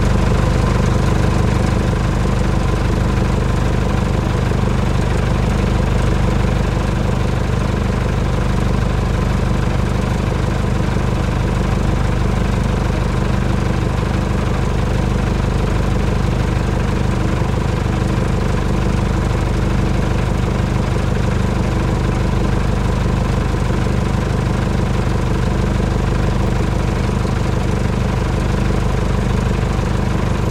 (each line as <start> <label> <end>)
0.0 medium lorry truck idle engine 30.5